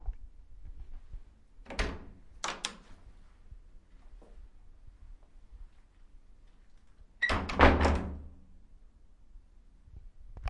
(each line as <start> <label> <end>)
1.6 Door open and close 3.0
7.2 Door open and close 8.4